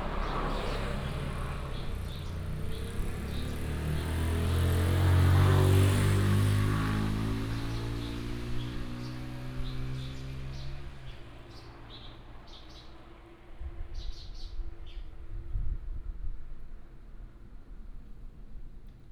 Traffic sound 0.0 - 13.5
birds sound 0.0 - 4.8

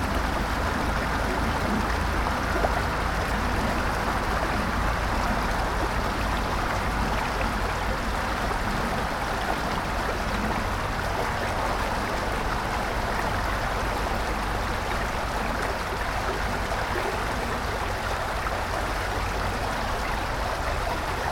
creek 0.0 - 21.3

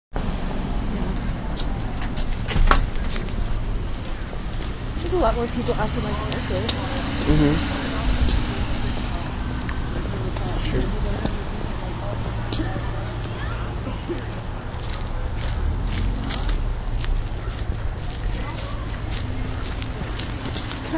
street sounds 0.1 - 20.9

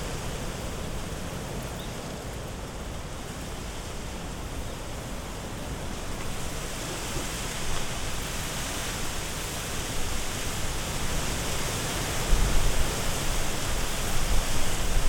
Strong wind blowing into young bamboo trees 0.0 - 15.0

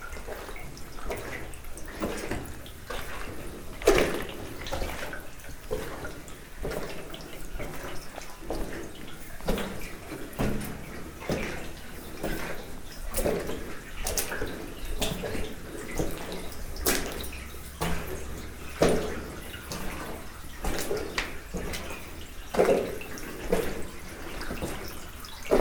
climb the stairs 0.2 - 25.6

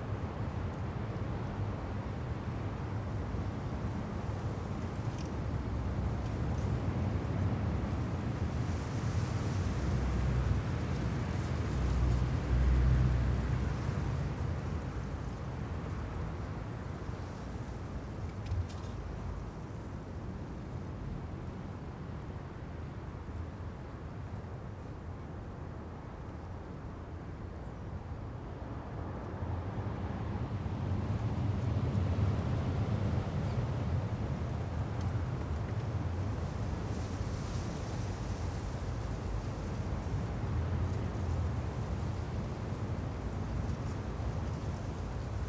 East wind 0.0 - 45.4
traffic noise 0.0 - 45.4

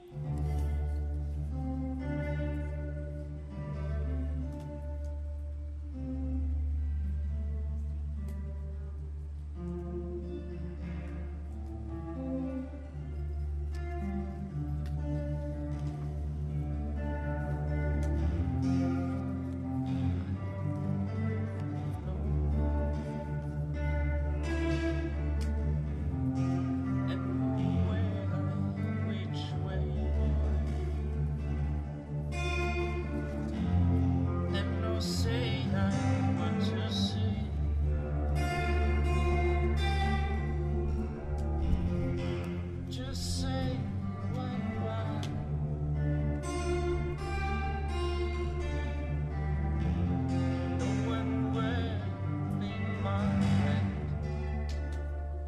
playing the tapes 0.0 - 55.4

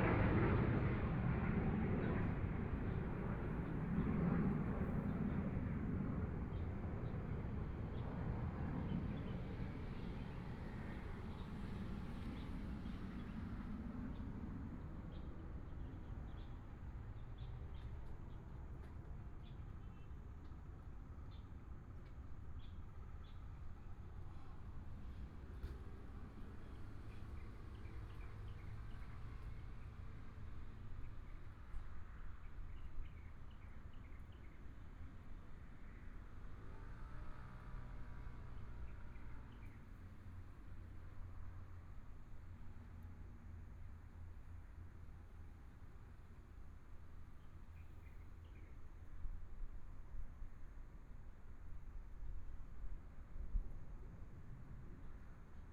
Fighter flight traveling through 0.0 - 17.3

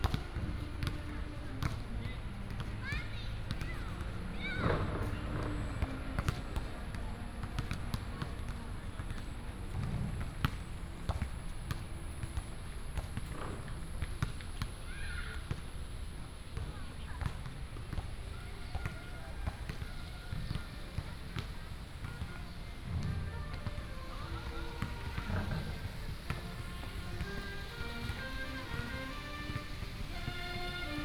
play basketball 0.0 - 31.0
Walking in the park 18.0 - 31.0
Traffic sound 20.2 - 31.0
fountain 23.4 - 31.0

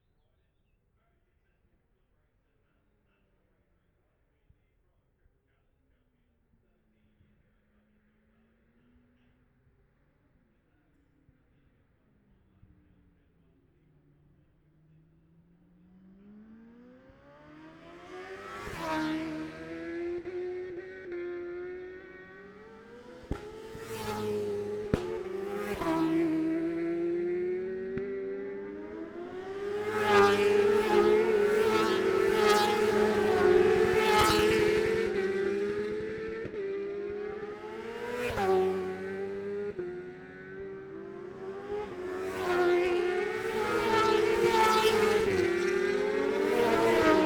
road racing 11.8 - 47.2

